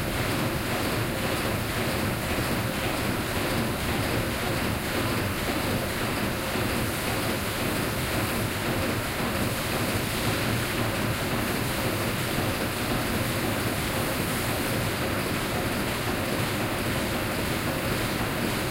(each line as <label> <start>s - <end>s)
factory 0.0s - 18.7s